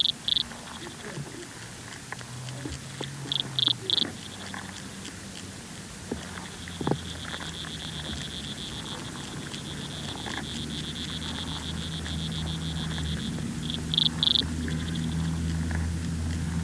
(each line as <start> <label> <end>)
0.0 Corixidae (water boatmen) 16.6